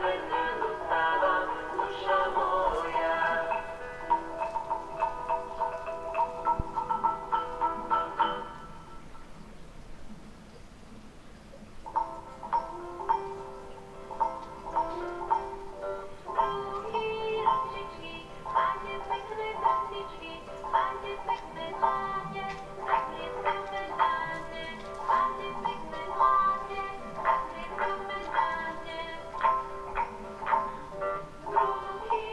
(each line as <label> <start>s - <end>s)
aching fairy-tale broadcasted through the one street 0.0s - 9.3s